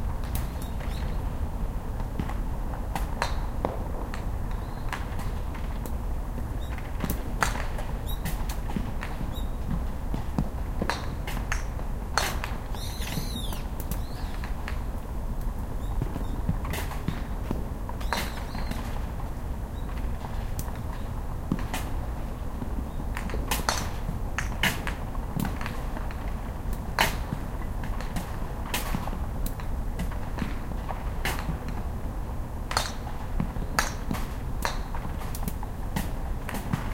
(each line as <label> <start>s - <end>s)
Birds 0.3s - 1.3s
Birds 4.5s - 5.1s
Birds 12.7s - 14.5s
Birds 18.0s - 19.0s